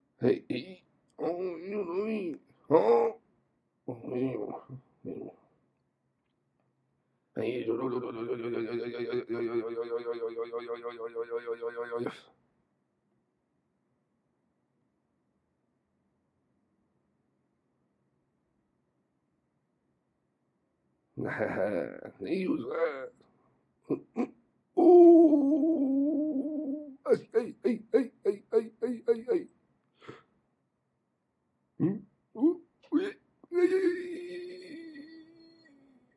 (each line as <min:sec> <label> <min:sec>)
0:32.4 cowboy being distressed 0:35.9